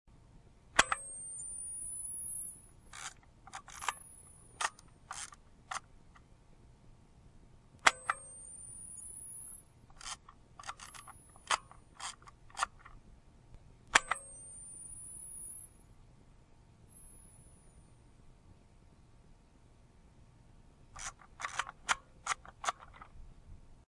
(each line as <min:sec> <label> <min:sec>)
0:00.8 forwarding film w. flash 0:05.9
0:00.8 Kodak K500 taking pictures 0:05.9
0:07.8 forwarding film w. flash 0:13.0
0:07.8 Kodak K500 taking pictures 0:13.0
0:13.9 Kodak K500 taking pictures 0:15.7
0:13.9 forwarding film w. flash 0:15.7
0:21.0 forwarding film w. flash 0:23.1
0:21.0 Kodak K500 taking pictures 0:23.2